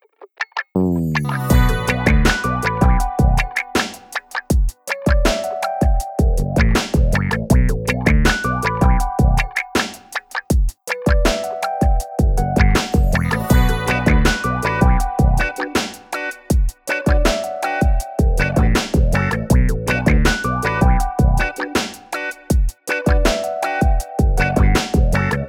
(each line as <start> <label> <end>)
0.0 sexy guitar 25.4
0.8 sexy bass 3.5
6.2 sexy bass 9.5
12.3 sexy bass 15.6
18.2 sexy bass 21.6
24.2 sexy bass 25.4